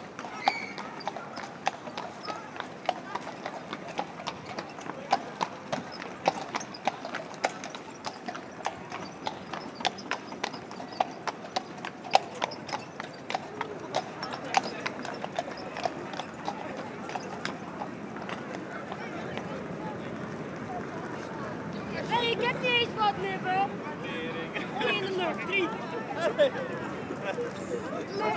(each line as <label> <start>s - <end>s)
tourists shouting and joking 0.0s - 11.4s
Horses and carriage 0.0s - 28.3s
tourists shouting and joking 12.0s - 28.3s